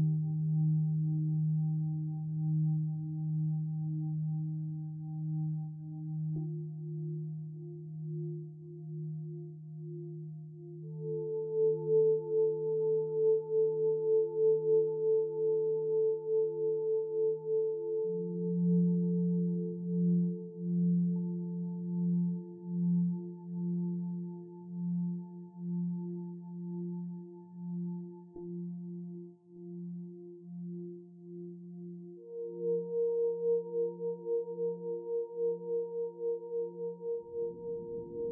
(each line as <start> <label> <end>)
0.0 Relaxation music 38.3